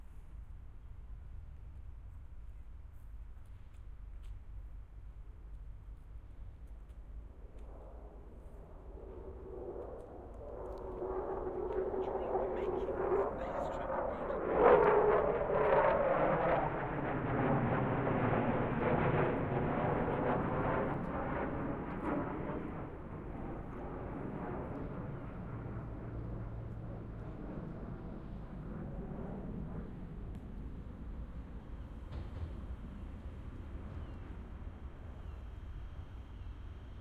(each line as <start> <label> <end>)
6.3 fighter jet passing over me 37.0